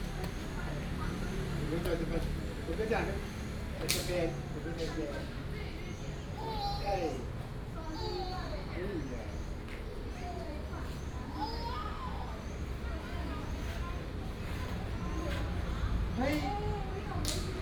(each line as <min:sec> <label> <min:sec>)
0:00.0 The elderly and children 0:17.6